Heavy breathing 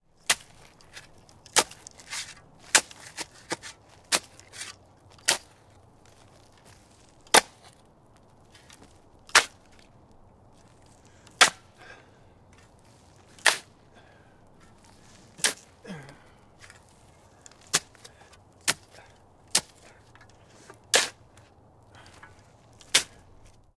0:11.0 0:12.5, 0:13.8 0:20.8, 0:21.8 0:22.5

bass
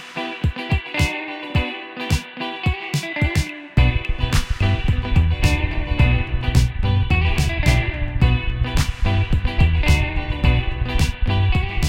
0:03.8 0:11.8

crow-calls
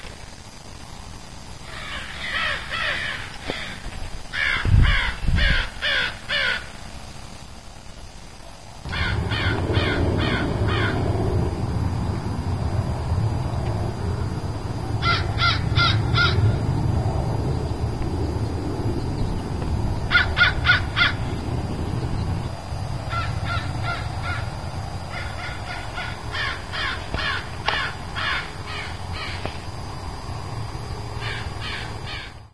0:01.6 0:06.7, 0:08.9 0:11.0, 0:15.0 0:16.6, 0:20.1 0:21.4, 0:23.1 0:29.6, 0:31.2 0:32.4

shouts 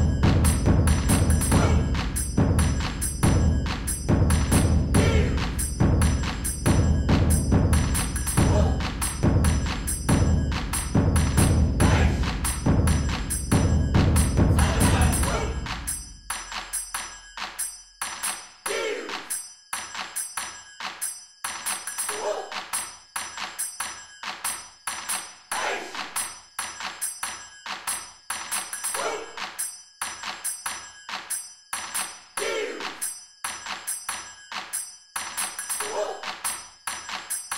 0:01.6 0:01.9, 0:05.0 0:05.5, 0:11.8 0:12.2, 0:18.7 0:19.3, 0:29.0 0:29.4, 0:32.4 0:33.0, 0:35.8 0:36.2

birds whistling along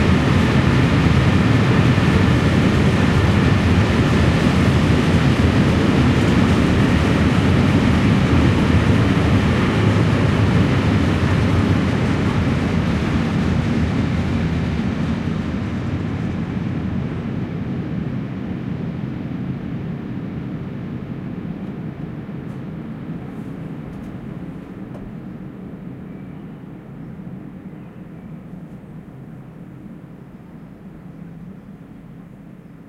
0:26.0 0:28.6

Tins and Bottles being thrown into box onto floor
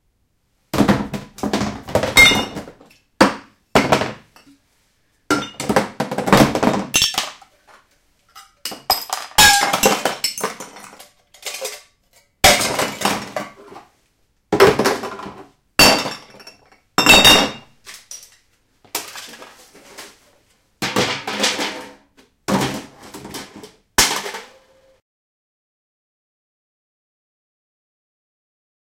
0:00.8 0:04.3, 0:05.3 0:07.8, 0:08.4 0:13.9, 0:14.5 0:20.2, 0:20.8 0:24.6

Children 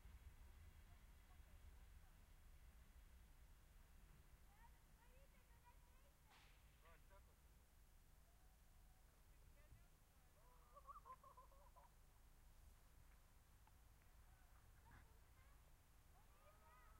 0:14.0 0:16.9

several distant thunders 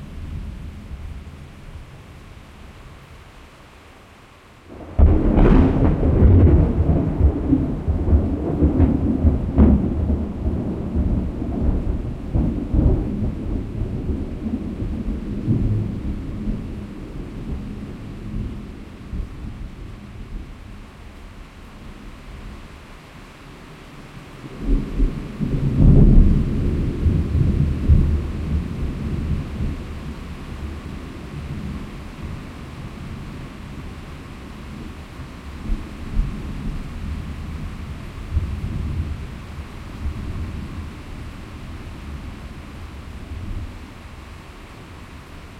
0:04.7 0:17.7

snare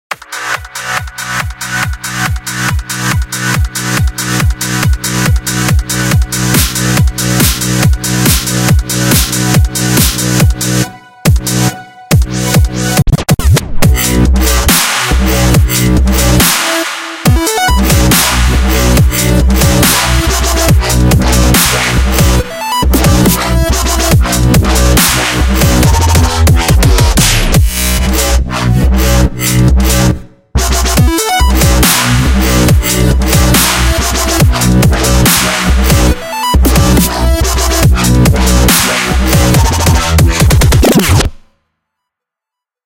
0:14.7 0:15.3, 0:16.4 0:17.3, 0:18.1 0:18.6, 0:21.6 0:22.1, 0:25.0 0:25.5, 0:31.8 0:32.3, 0:33.5 0:34.2, 0:35.2 0:35.9, 0:38.6 0:41.4

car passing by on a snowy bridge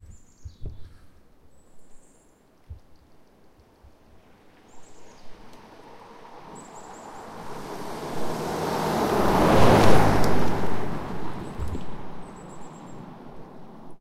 0:04.1 0:14.0

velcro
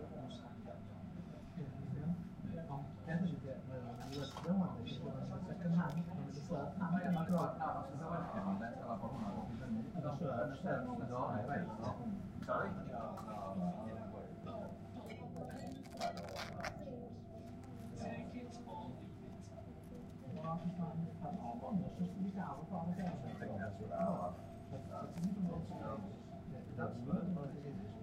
0:15.6 0:16.8

